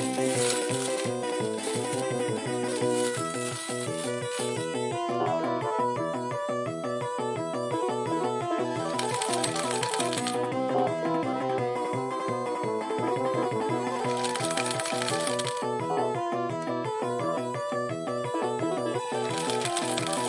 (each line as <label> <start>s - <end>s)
General slot play on Japanese Slot Machine with payout 8.8s - 10.5s
General slot play on Japanese Slot Machine with payout 13.8s - 15.8s
General slot play on Japanese Slot Machine with payout 18.9s - 20.2s